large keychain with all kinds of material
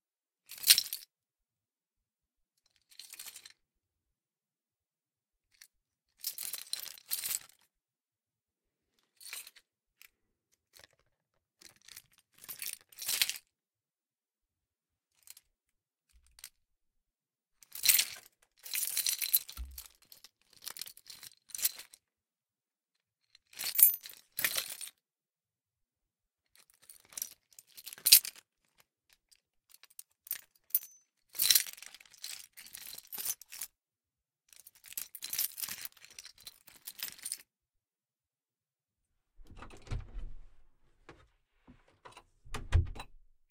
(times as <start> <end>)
0.5 1.2, 2.6 3.8, 5.4 7.8, 8.8 13.6, 15.0 16.6, 17.6 22.1, 23.3 25.0, 26.5 33.8, 34.5 37.6, 39.4 40.6